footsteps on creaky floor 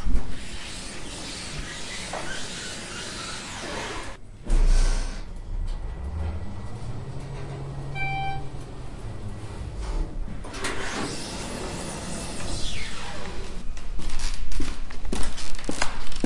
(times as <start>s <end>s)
13.7s 16.2s